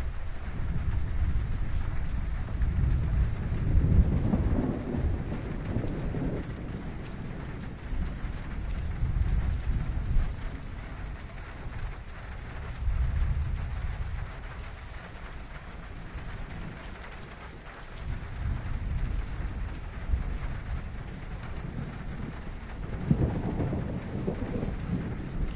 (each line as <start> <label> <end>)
0.0 Rain on metal roof 25.5
0.0 distant thunder 25.5